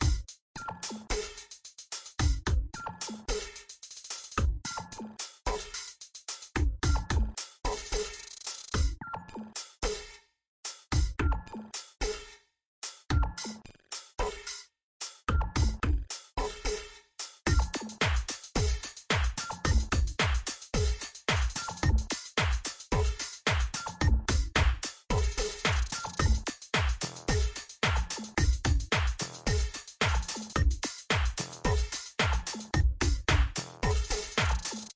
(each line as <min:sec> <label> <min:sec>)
0:00.0 glitch hop drums 0:01.5
0:02.2 glitch hop drums 0:05.9
0:06.6 glitch hop drums 0:09.0
0:15.3 glitch hop drums 0:16.7
0:17.5 glitch hop drums 0:34.9